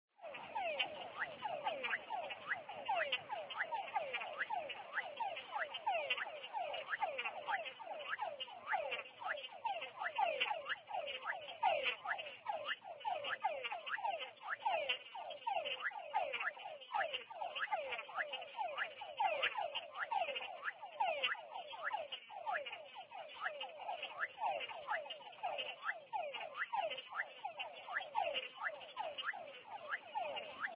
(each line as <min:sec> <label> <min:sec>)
0:00.2 Frogs singing 0:30.7